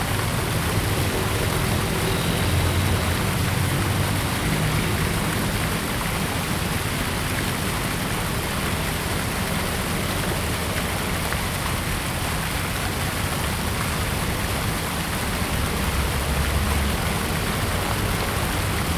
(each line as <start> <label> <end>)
0.0 Fountain 18.9
0.0 Traffic Sound 18.9